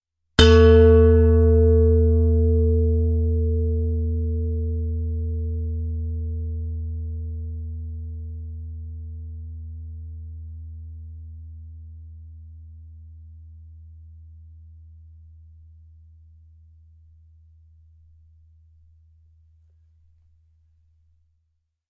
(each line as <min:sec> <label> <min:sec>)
0:00.4 stainless steel bowl struck with a wooden striker 0:09.1